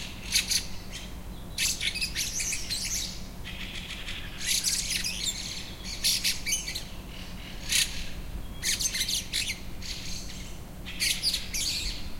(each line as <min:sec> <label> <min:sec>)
0:00.0 birdsong 0:12.1